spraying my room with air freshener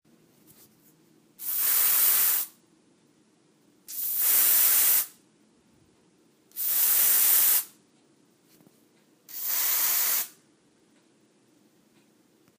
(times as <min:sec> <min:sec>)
0:01.4 0:02.6, 0:03.9 0:05.2, 0:06.5 0:07.8, 0:09.3 0:10.4